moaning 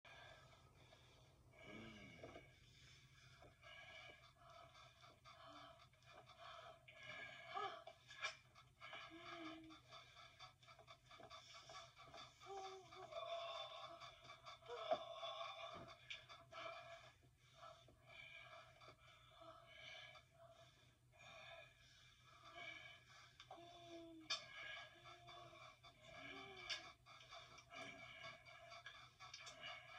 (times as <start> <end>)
12.1 16.7